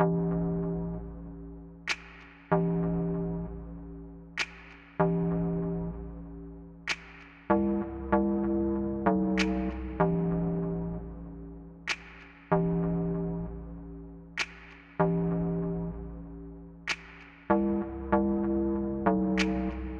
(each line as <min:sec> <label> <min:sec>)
0:01.8 drum 0:03.3
0:04.4 drum 0:05.7
0:06.9 drum 0:07.8
0:09.1 drum 0:10.5
0:11.9 drum 0:13.2
0:14.3 drum 0:15.7
0:16.9 drum 0:17.8
0:19.2 drum 0:19.9